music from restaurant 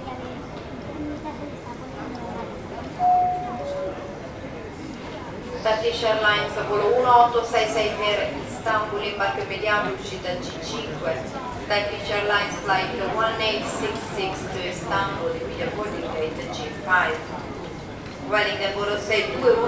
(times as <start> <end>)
3.0 4.5